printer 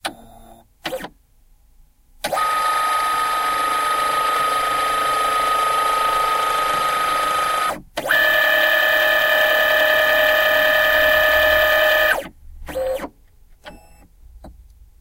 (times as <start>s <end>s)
0.0s 1.1s, 2.2s 13.1s